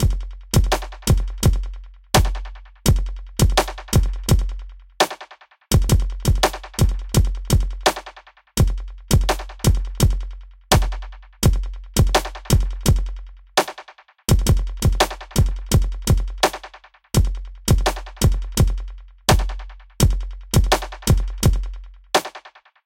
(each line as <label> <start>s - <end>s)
hip hop beat 0.0s - 22.6s